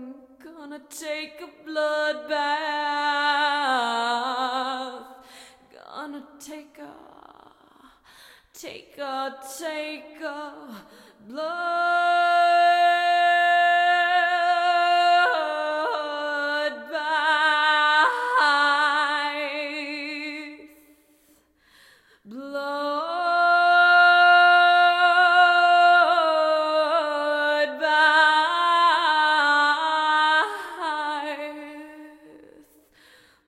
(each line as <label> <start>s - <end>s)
female vocals 0.0s - 21.1s
female vocals 22.2s - 33.4s